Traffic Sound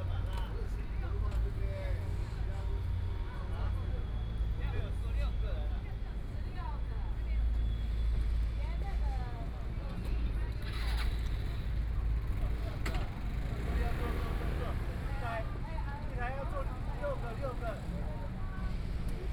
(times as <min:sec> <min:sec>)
0:05.7 0:19.3